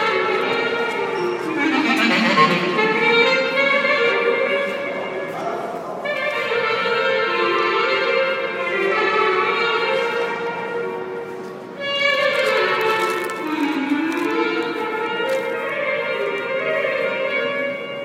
0.0s clarinet 18.0s
0.0s subway arrives 18.0s
1.4s murmuring singing 3.5s
12.0s crackling paper bag 15.7s

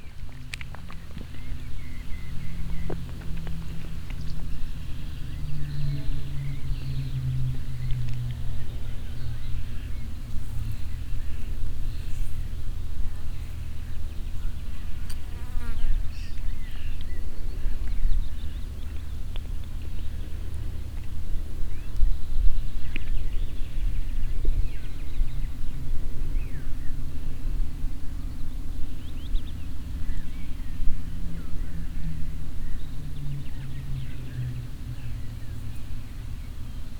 0.0s sounds of chewing 5.4s

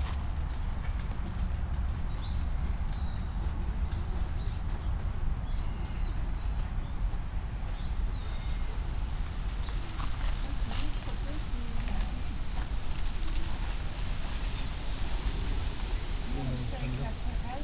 1.9s birds 17.6s
4.4s wind in trees 17.6s

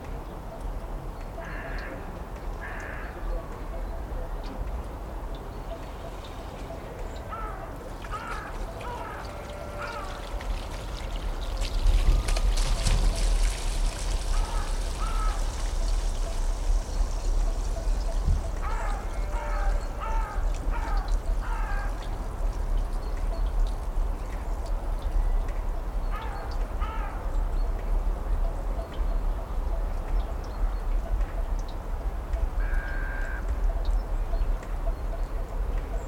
1.4s crows 2.0s
2.6s crows 3.2s
7.3s crows 10.3s
14.3s crows 15.5s
18.6s crows 22.0s
26.1s crows 27.2s
32.6s crows 33.5s

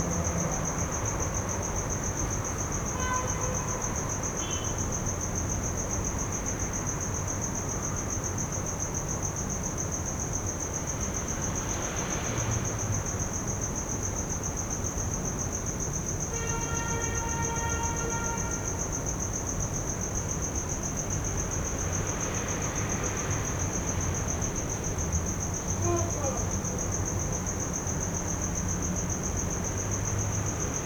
25.8s calling for papa 26.7s

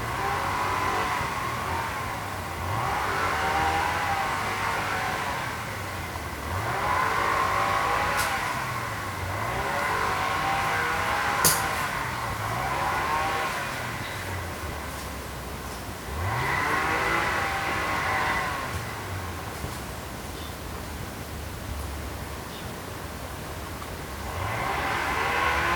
0.0s crows protest against the motor noise 15.0s
0.0s noise from a strimmer 15.1s
16.0s noise from a strimmer 19.9s
16.0s crows protest against the motor noise 19.8s
24.0s crows protest against the motor noise 25.7s
24.2s noise from a strimmer 25.7s

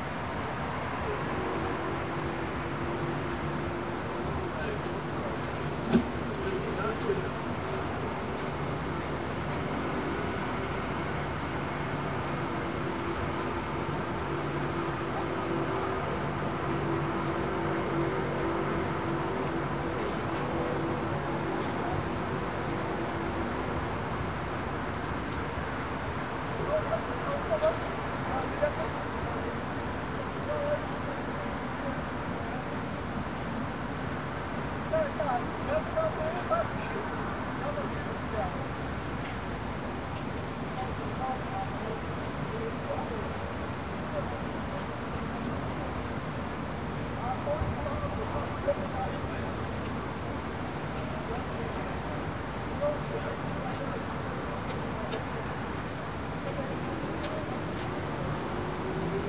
0.0s carpet of crickets on a field 59.2s
0.0s not too much traffic 59.2s

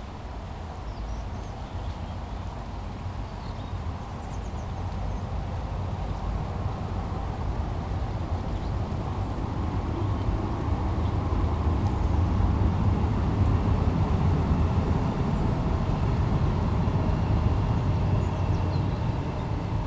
0.0s rain 19.8s
3.8s LNER train 19.8s

